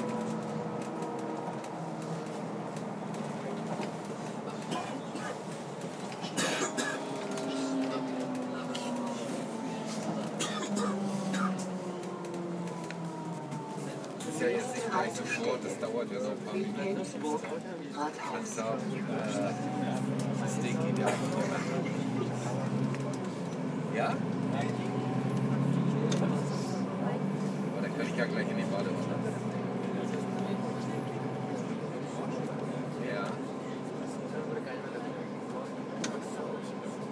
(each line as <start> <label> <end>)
0.0 Buslinien 37.1